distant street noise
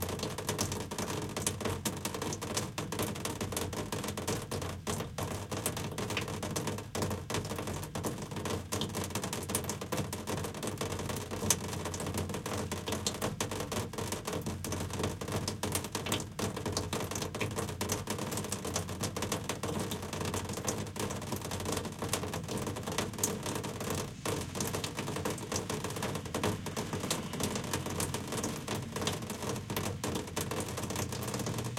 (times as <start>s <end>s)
24.1s 31.7s